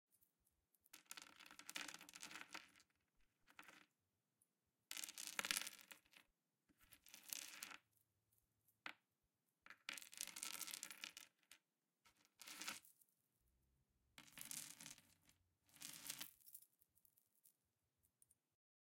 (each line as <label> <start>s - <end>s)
Rosary beads picking up and putting down 5.0s - 6.2s
Rosary beads picking up and putting down 9.7s - 11.3s
Rosary beads picking up and putting down 12.4s - 13.0s
Rosary beads picking up and putting down 14.2s - 15.1s
Rosary beads picking up and putting down 15.7s - 16.8s